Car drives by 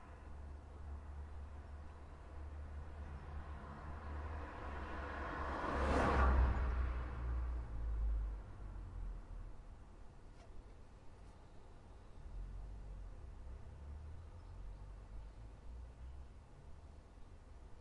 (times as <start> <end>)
3.6 7.5